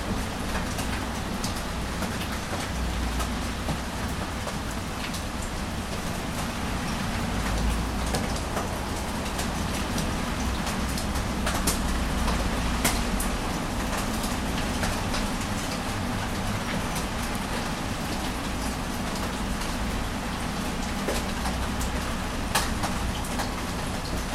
rain 0:00.0 - 0:24.3

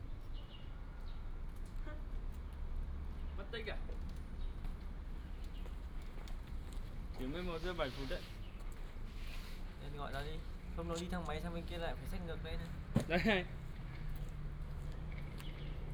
birds sound 0:08.3 - 0:08.9
birds sound 0:15.0 - 0:15.9

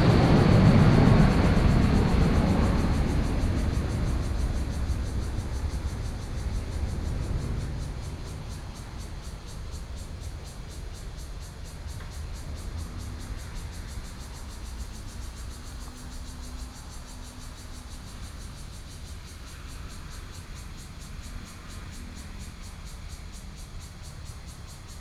Traffic Sound 0:00.0 - 0:17.5
Cicadas sound 0:00.0 - 0:25.0

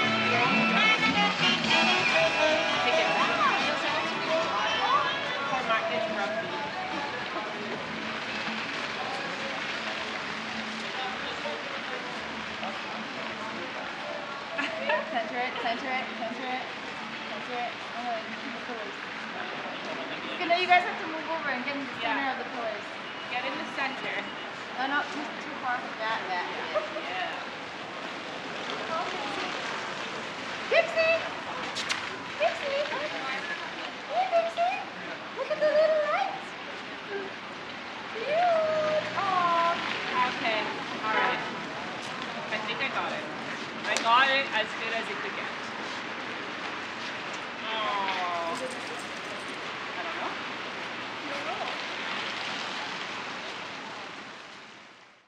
music being played by a passing vehicle 0:00.0 - 0:35.5
pedestrians 0:00.0 - 0:55.2

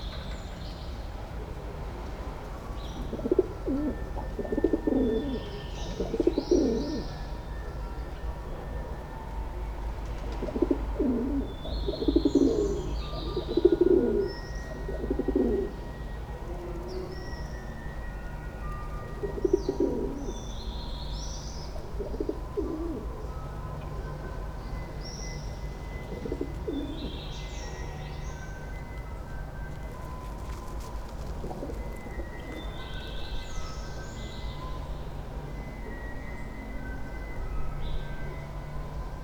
pigeons 0:10.2 - 0:15.8
pigeons 0:18.8 - 0:20.4
pigeons 0:29.7 - 0:33.0

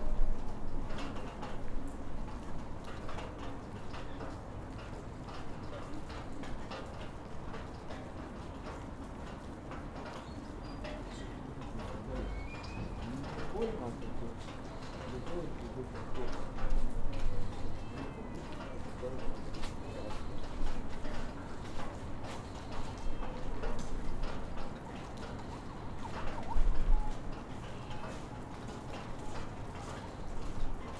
passers-by walking in the snow 0:00.0 - 0:30.9

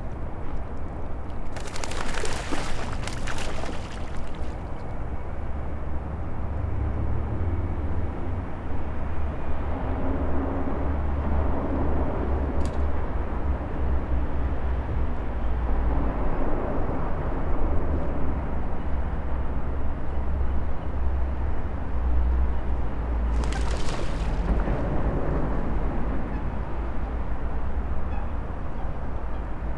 ducks and coots swimming and making some interesting sounds 0:01.5 - 0:04.9
small bird came to visit them by flying 0:01.6 - 0:04.8
cars driving over the carbridge 0:22.7 - 0:29.7
ducks and coots swimming and making some interesting sounds 0:23.3 - 0:24.9
small bird came to visit them by flying 0:23.3 - 0:24.9

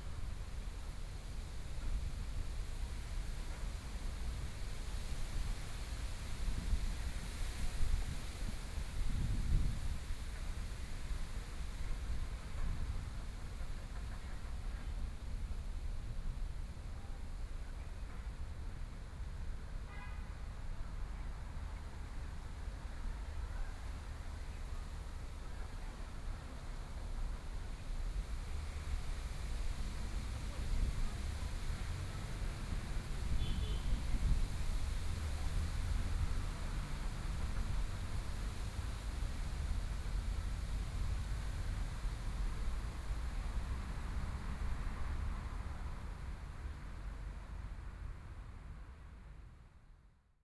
Traffic Sound 0:18.0 - 0:49.8

